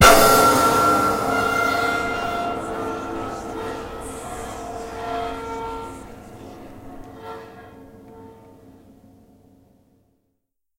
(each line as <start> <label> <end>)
0.0 big crash 8.6